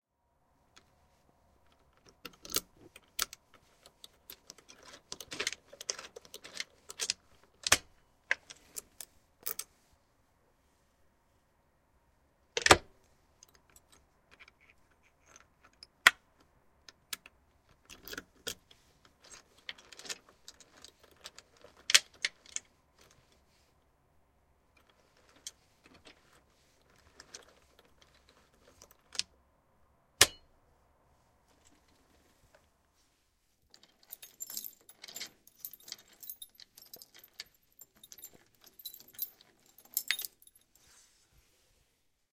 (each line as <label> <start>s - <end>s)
unlock and lock a door with keys 1.7s - 9.7s
unlock and lock a door with keys 12.6s - 23.4s
unlock and lock a door with keys 24.8s - 29.3s
unlock and lock a door with keys 33.7s - 40.7s